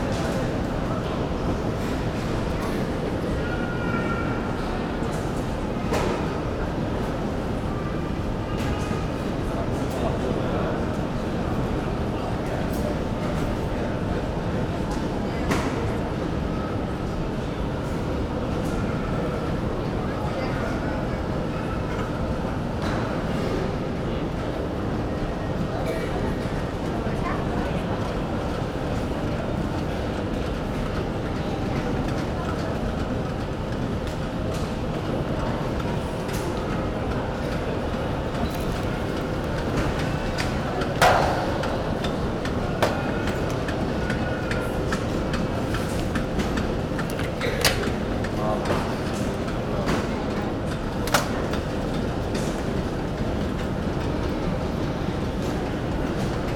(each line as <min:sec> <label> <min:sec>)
0:25.9 baggage conveyor belt 0:56.5